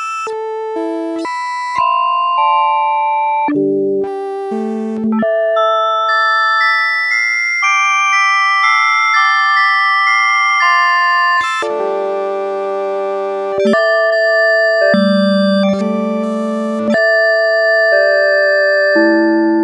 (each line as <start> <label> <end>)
0.0 keyboard with built-in FM-synthesizer 19.6